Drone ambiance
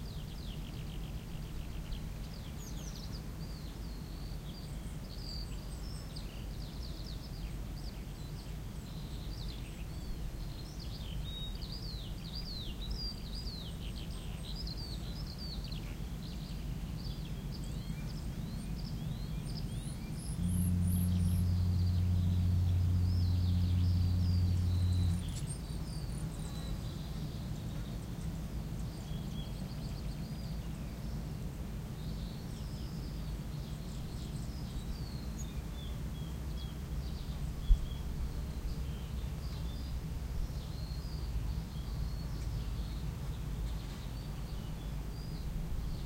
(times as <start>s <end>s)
19.8s 26.9s